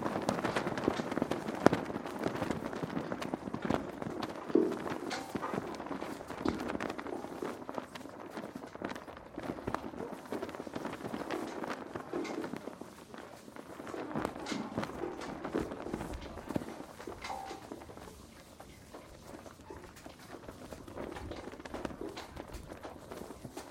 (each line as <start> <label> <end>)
0.0 flag flaps back and forth 23.7
0.0 high wind 23.7